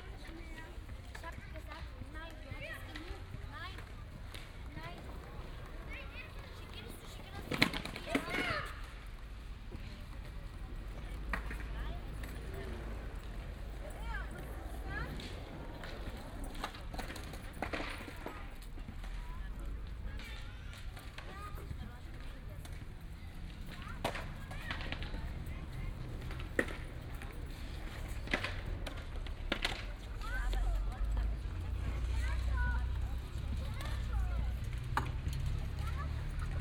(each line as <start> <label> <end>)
0.0 children, parents 36.6
0.0 kids skating 36.6